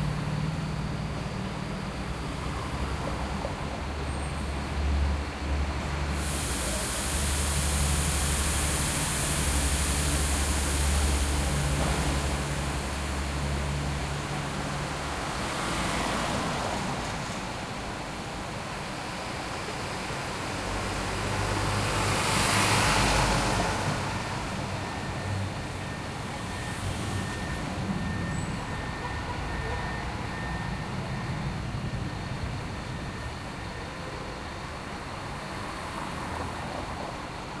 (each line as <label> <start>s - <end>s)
Bus leaving 0.0s - 37.6s
passing cars 7.5s - 37.6s